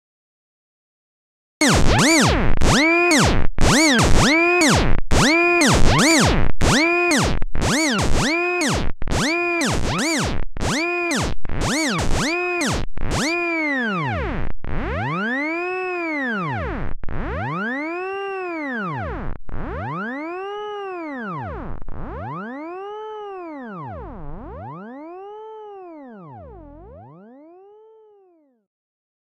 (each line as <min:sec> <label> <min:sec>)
0:01.6 blender-synth 0:25.3